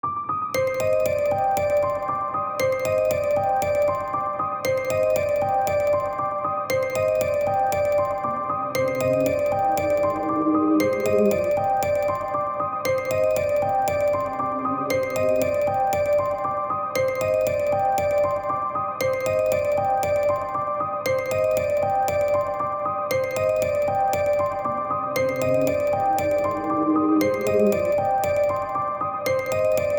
7.4s music box reverse 16.4s

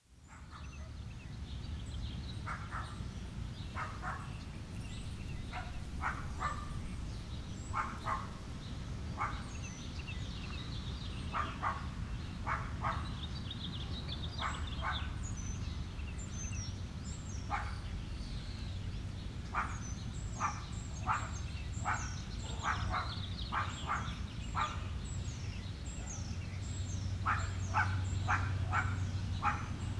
0.7s birds are very busy establishing territories 11.2s
2.5s droning of several private airplanes 9.9s

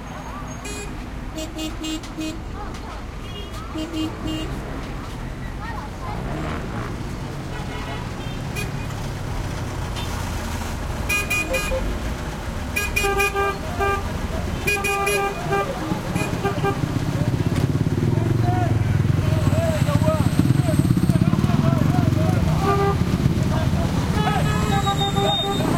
0.0s throaty cars motorcycles mopeds 25.7s

